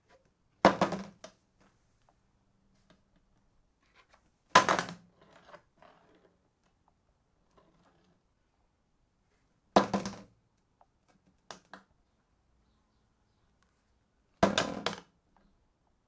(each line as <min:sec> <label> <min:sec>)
0:00.6 empty plastic bucket falling over on a tile floor 0:01.4
0:04.5 empty plastic bucket falling over on a tile floor 0:05.1
0:09.8 empty plastic bucket falling over on a tile floor 0:10.4
0:14.4 empty plastic bucket falling over on a tile floor 0:15.1